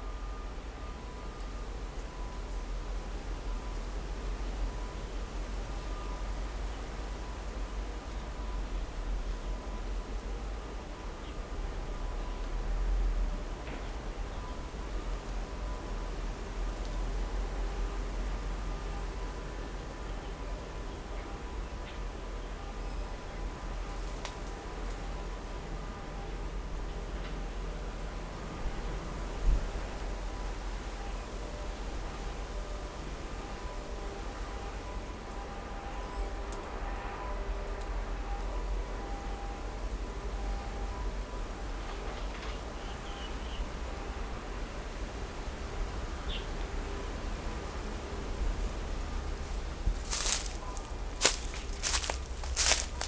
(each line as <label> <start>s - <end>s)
wind 0.0s - 53.0s
Foot with the sound of leaves 48.4s - 53.0s
Distant factory noise 49.1s - 53.0s